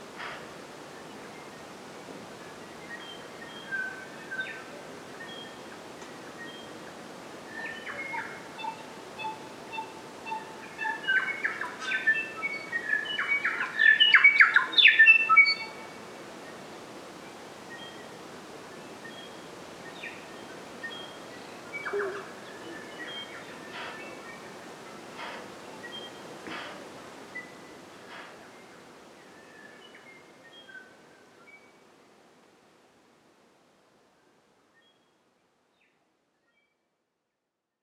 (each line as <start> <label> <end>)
7.5 birds 16.6
18.8 birds 31.0